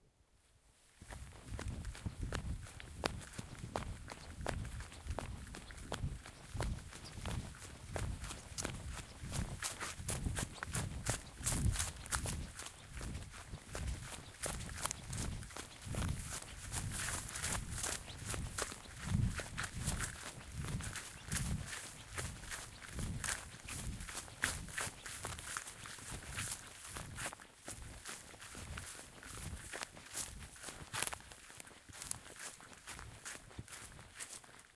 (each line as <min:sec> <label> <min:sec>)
0:01.0 footsteps 0:34.7